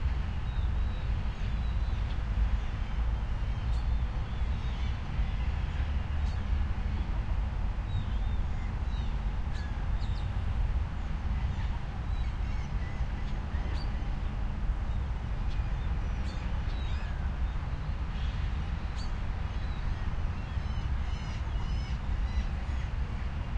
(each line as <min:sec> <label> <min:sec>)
0:00.0 river 0:23.5
0:00.0 traffic 0:23.5